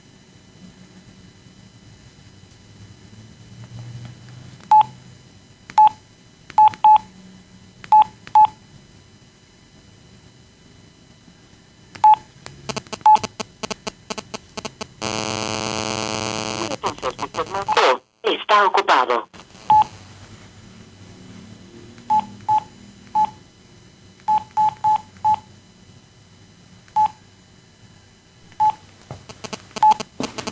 12.5s interference 21.1s
28.6s interference 30.5s

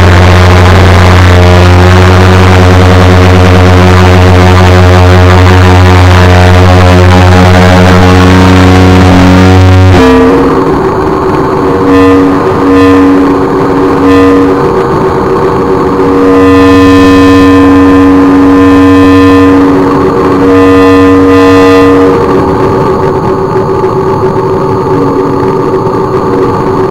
0.0s feedback 26.9s

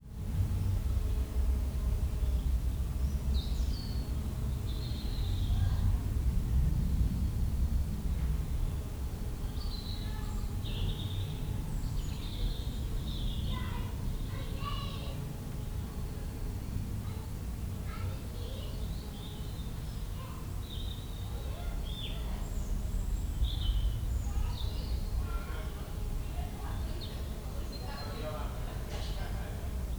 2.2s birdsong 5.8s
8.2s children 29.9s
8.8s birdsong 16.0s
17.7s birdsong 29.9s

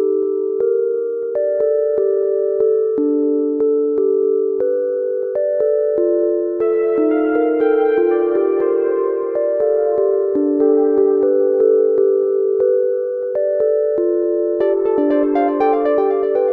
6.6s electronic musical theme 13.0s
14.6s electronic musical theme 16.5s

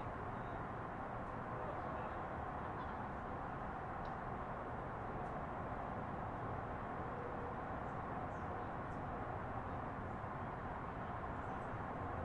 0.0s Wind 12.2s

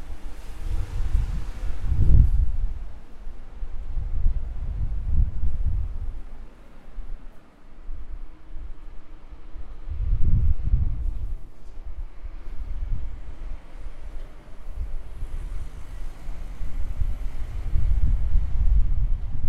0.0s street sound 19.4s

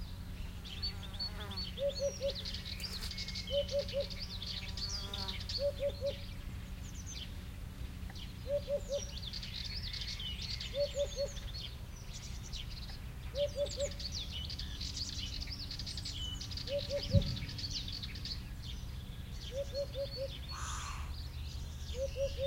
0.0s Blackbird 22.4s
0.0s airplane 22.4s
0.0s distant Hoopoe call 22.4s
0.6s flies 5.6s

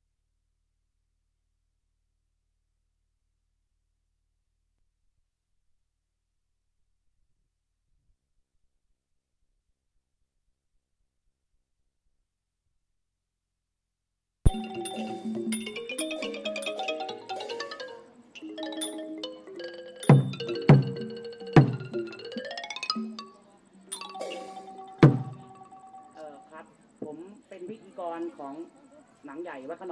14.5s percussion 27.3s

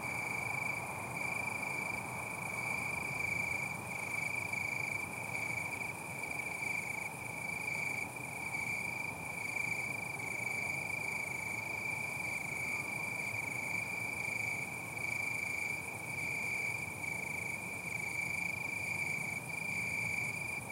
0.0s Cricket in bush 20.7s

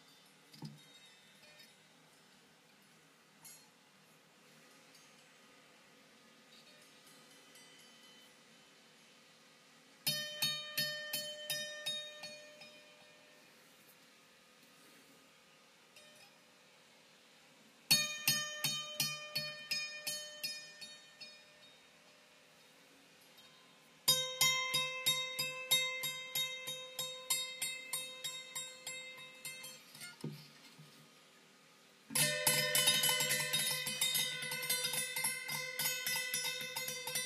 0.0s metallic dinging sound coming from a small hammer 2.2s
3.4s metallic dinging sound coming from a small hammer 3.8s
6.5s metallic dinging sound coming from a small hammer 8.4s
10.1s metallic dinging sound coming from a small hammer 13.4s
16.0s metallic dinging sound coming from a small hammer 16.4s
17.9s metallic dinging sound coming from a small hammer 22.2s
23.3s metallic dinging sound coming from a small hammer 30.4s
32.1s metallic dinging sound coming from a small hammer 37.2s

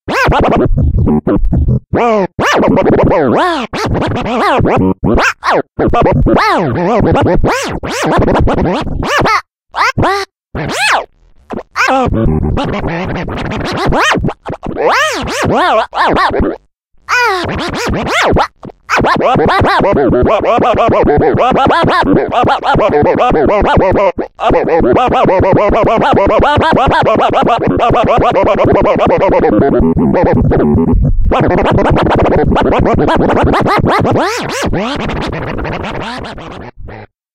10.6s scratch 16.5s
17.1s scratch 19.8s
30.2s scratch 36.7s

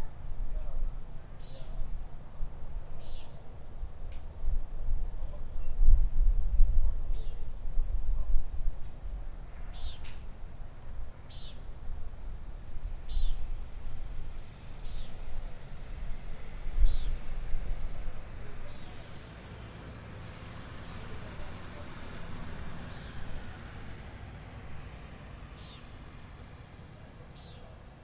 0.0s insects 28.0s
1.4s birds 1.9s
3.0s birds 3.4s
9.4s birds 10.3s
11.2s birds 11.7s
13.0s birds 13.5s
14.5s birds 15.6s
16.8s birds 17.4s
25.5s birds 26.1s
27.2s birds 27.8s

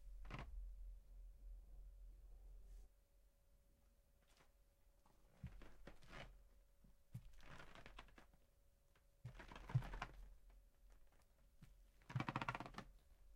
7.2s walking on a creaky floor 8.2s
9.3s walking on a creaky floor 10.2s

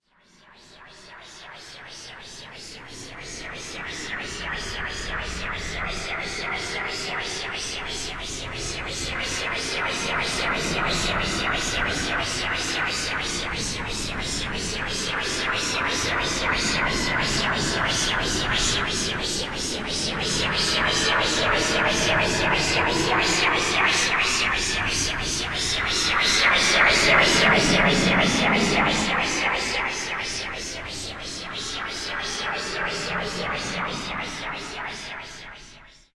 1.6s Phaser Effect 36.1s

